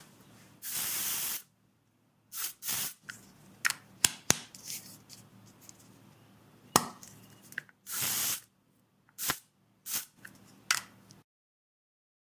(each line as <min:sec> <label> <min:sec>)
0:00.6 Deodorant being sprayed 0:01.5
0:02.3 Deodorant being sprayed 0:03.0
0:07.9 Deodorant being sprayed 0:08.5
0:09.2 Deodorant being sprayed 0:10.2